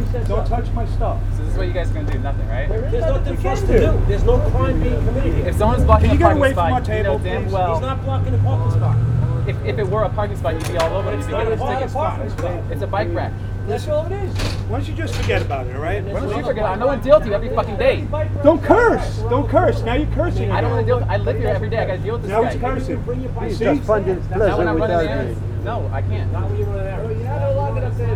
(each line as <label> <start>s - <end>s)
conversation 0.0s - 28.1s